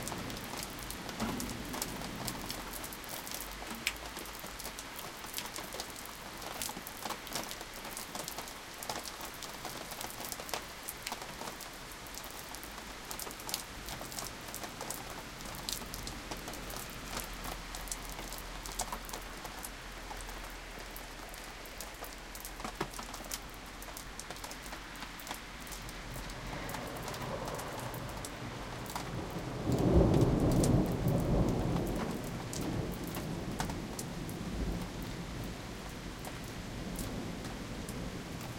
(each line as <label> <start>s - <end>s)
heavy rain in the background 0.0s - 38.5s
raindrops pouring down on the foreground balcony 0.0s - 38.5s
thunder 1.2s - 2.7s
cars passing in the street 23.6s - 29.7s
thunder 26.5s - 34.9s